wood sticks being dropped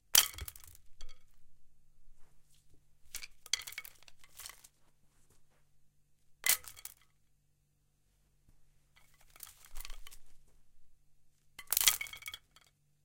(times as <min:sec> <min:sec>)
0:00.2 0:01.4, 0:03.1 0:04.8, 0:06.4 0:07.2, 0:09.0 0:10.4, 0:11.6 0:12.7